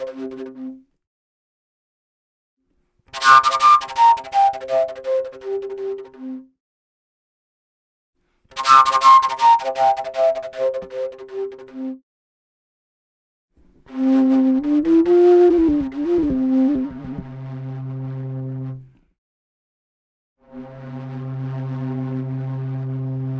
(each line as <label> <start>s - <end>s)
PVC fujara flute 3.1s - 6.5s
PVC fujara flute 8.5s - 12.0s
PVC fujara flute 13.9s - 18.2s